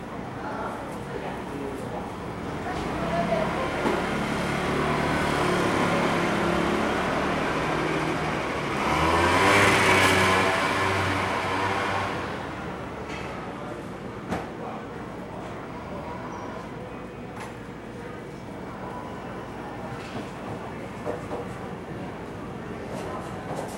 0.1s Walking through the traditional market 14.2s

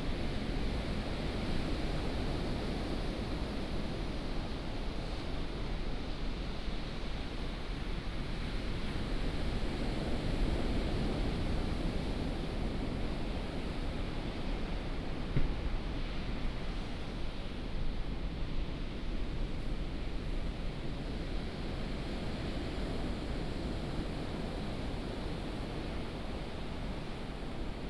0.0s waves 27.8s

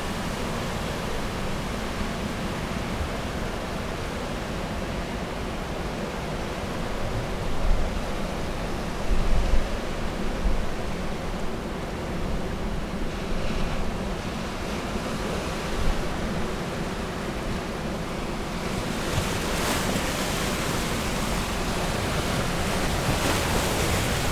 0.0s outgoing tide 24.3s

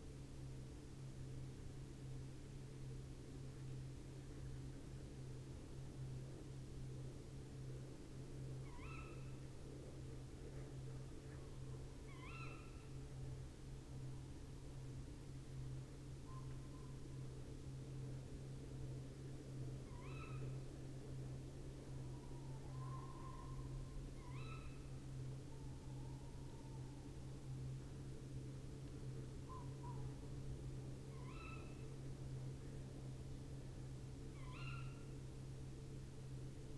22.0s tawny owl 27.2s
31.1s tawny owl 31.9s
34.3s wren 35.2s
34.3s tawny owl 35.2s
34.4s pheasant 35.2s

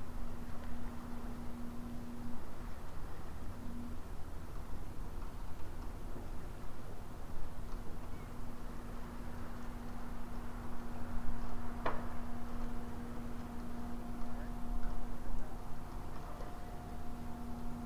0.0s raining 17.8s

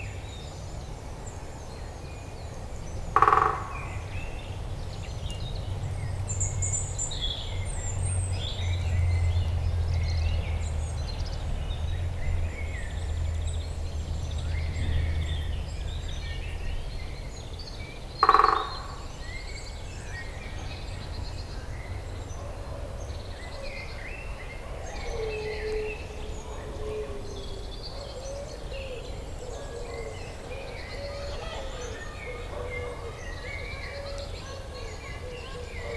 3.2s European green woodpecker strikes a tree 3.9s
18.2s European green woodpecker strikes a tree 19.0s

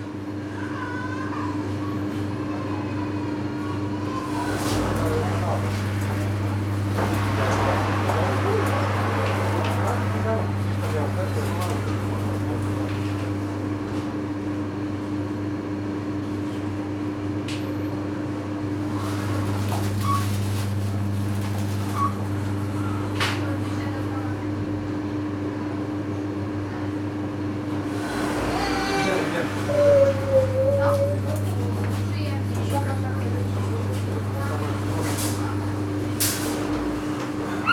0.0s drone of the air conditioner 37.7s
0.5s crying children 3.1s
4.0s customers 13.5s
4.1s clutter of the shopping carts 13.3s
4.2s sliding door 10.1s
4.2s cash registers 13.2s
18.8s clutter of the shopping carts 24.0s
27.8s customers 37.7s
27.8s sliding door 29.7s
27.9s clutter of the shopping carts 37.7s
28.4s crying children 31.4s

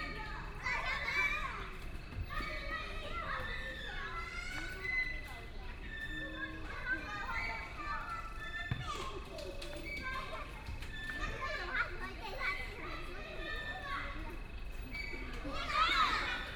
0.0s Children 16.5s

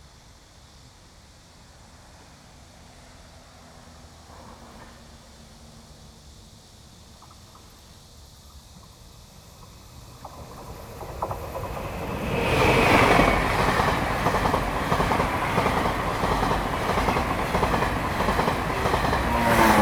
0.6s The train runs through 19.8s
2.7s traffic sound 19.8s
5.6s Cicada cry 19.8s

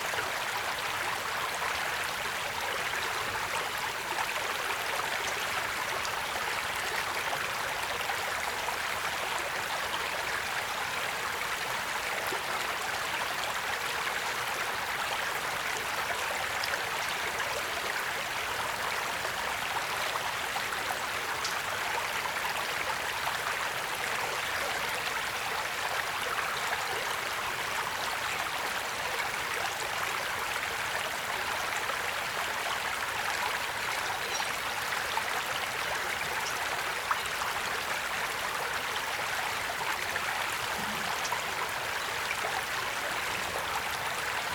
0.0s Small stream 44.5s

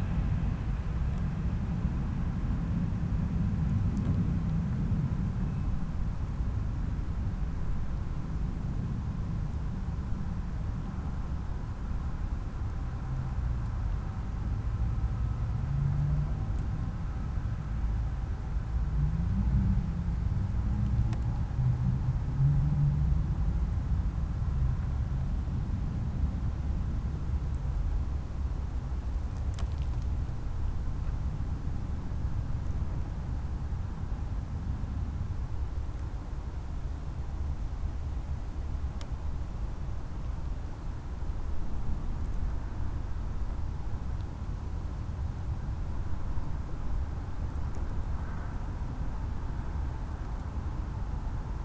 0.0s local trains 29.1s
0.0s distant snow absorbed drone of traffic 51.6s

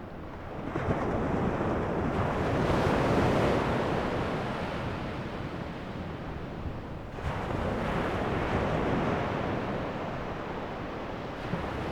0.0s Ocean 11.9s

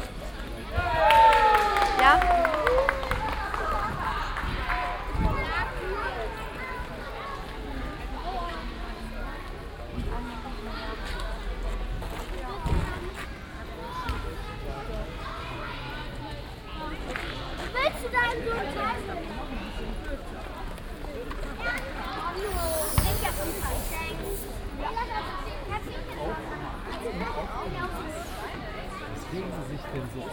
22.5s biertalk 24.6s

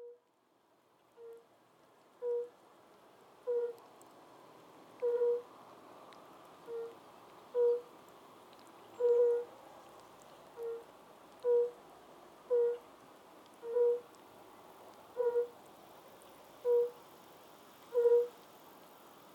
0.0s European fire-bellied toads in small pond 19.3s
0.3s Drizzling rain 19.3s

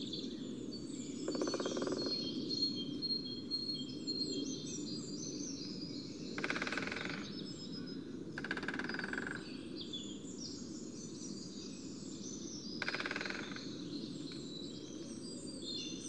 1.2s Greater Spotted Woodpeckers drumming 2.2s
6.4s Greater Spotted Woodpeckers drumming 7.4s
8.4s Greater Spotted Woodpeckers drumming 9.5s
12.8s Greater Spotted Woodpeckers drumming 13.8s

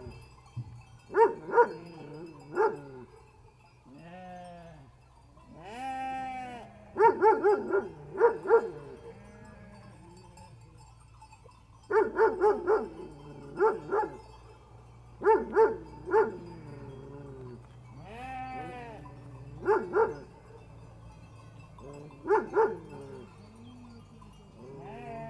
0.0s sheep bells 25.2s
1.1s dogs barks 3.2s
3.9s baa's 11.0s
7.0s dogs barks 9.2s
11.9s dogs barks 14.3s
15.2s dogs barks 16.8s
15.2s baa's 25.2s
19.6s dogs barks 20.6s
21.8s dogs barks 23.4s

